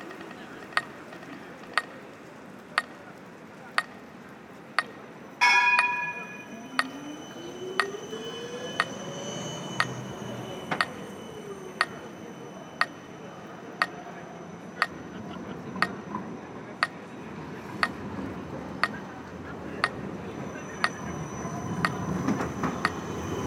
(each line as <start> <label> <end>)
0.0 dense traffic 23.4
4.8 tramways breaking through 23.4